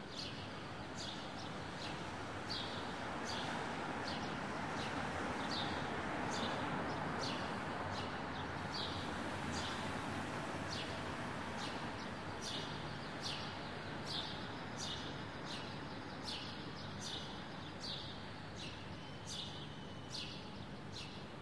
light traffic car 0:00.8 - 0:21.3
Birds 0:10.7 - 0:21.4

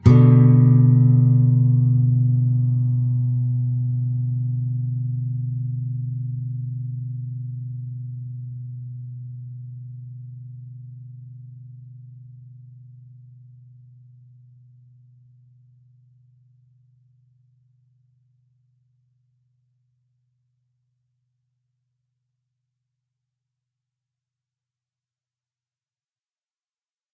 nylon guitar 0:00.0 - 0:12.5

